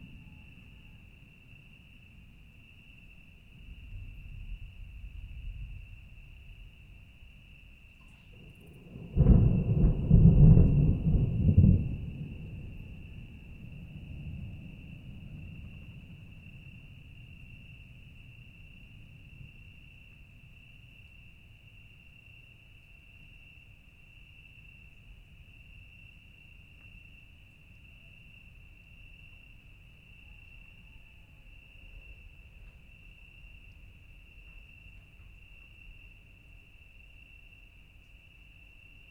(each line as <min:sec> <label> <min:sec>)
0:00.0 Thunderstorm in the distance 0:39.1